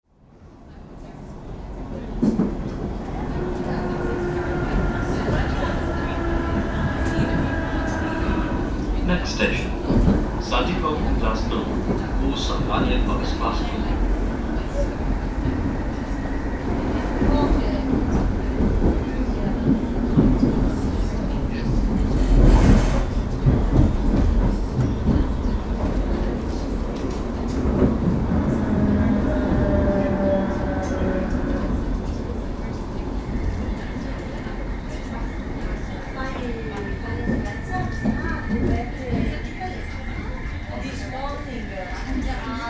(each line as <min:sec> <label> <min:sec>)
0:02.4 Train stopping 0:42.6